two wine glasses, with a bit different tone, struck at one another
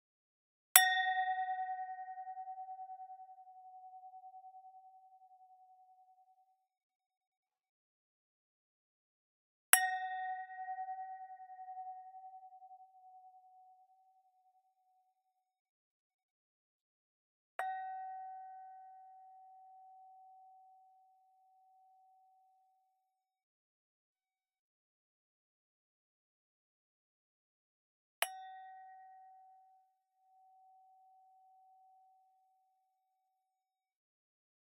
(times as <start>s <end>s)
0.8s 6.1s, 9.8s 14.3s, 17.6s 21.2s, 28.2s 29.7s